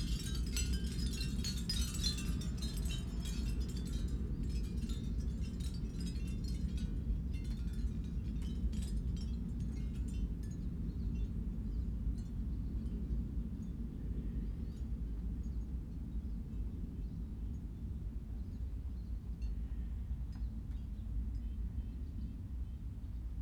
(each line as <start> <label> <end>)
0.0 Corinthian Bells windchimes 13.9
0.0 oystershell windchimes in the gentle morning breeze 22.4